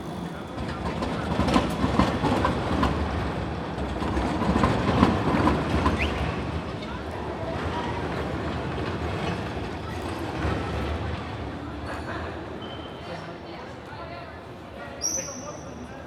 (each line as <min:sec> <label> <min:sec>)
0:00.0 trams pass here continually 0:14.7
0:04.1 squeal of wheels on the tracks 0:11.0
0:11.8 squeal of wheels on the tracks 0:13.5
0:14.9 squeal of wheels on the tracks 0:16.0